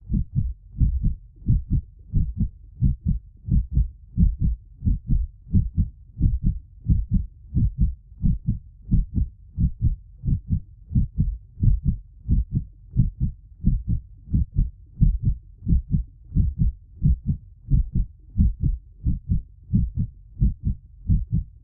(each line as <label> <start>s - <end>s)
intensely pulsating heart muscle 0.0s - 21.6s